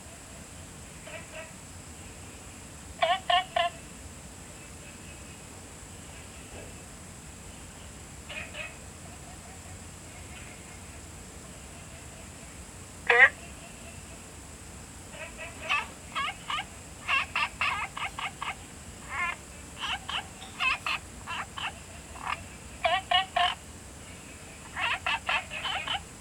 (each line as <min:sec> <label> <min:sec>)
0:11.7 Frogs chirping 0:14.2
0:15.0 Frogs chirping 0:26.2